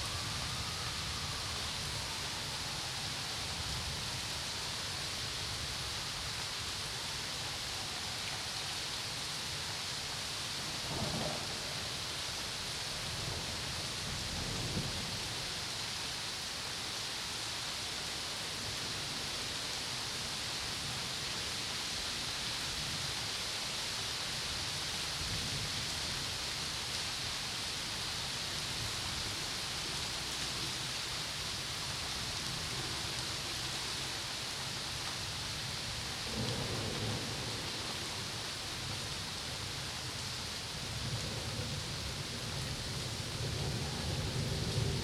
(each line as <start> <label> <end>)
0.0 Summer storm 45.0
0.0 gentle rain 45.0